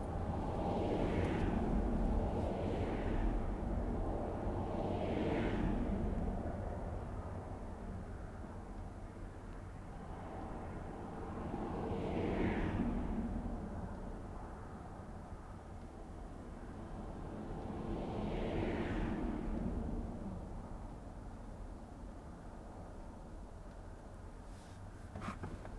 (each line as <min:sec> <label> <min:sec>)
0:00.0 freeway traffic noises 0:25.7